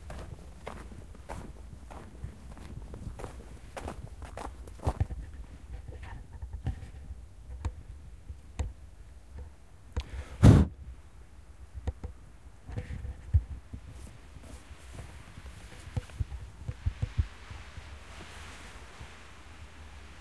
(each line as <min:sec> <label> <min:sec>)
0:00.0 walking in the snow 0:07.1
0:12.8 walking in the snow 0:20.2